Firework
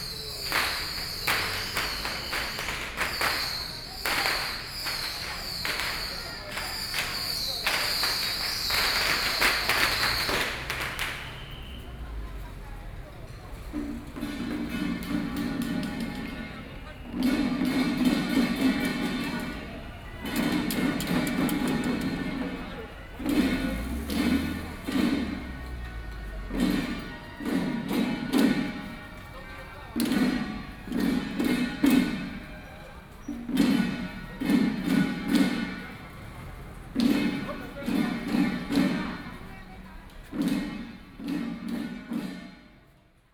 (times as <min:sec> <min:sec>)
0:00.0 0:11.9